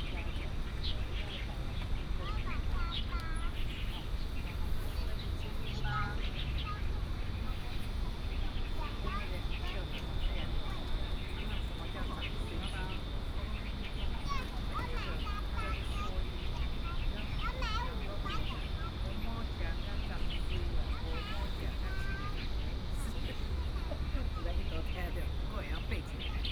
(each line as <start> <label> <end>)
0.0 Bird sounds 26.5